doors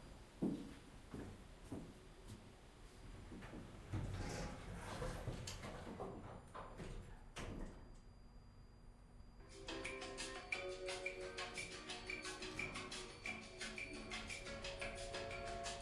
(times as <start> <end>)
3.3 8.1